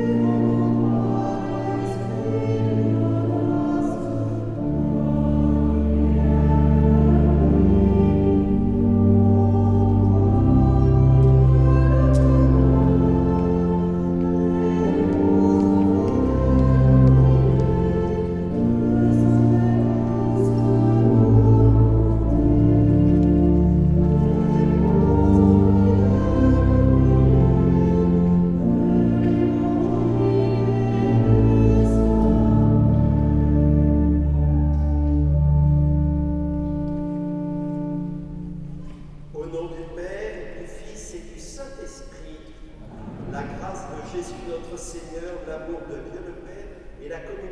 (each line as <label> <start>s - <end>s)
mass 42.8s - 44.9s